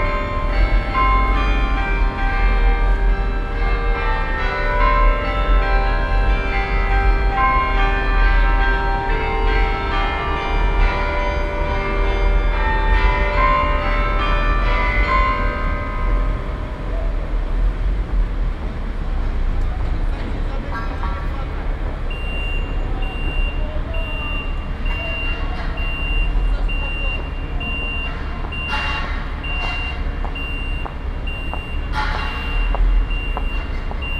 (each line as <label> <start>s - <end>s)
the chimes 22.1s - 34.1s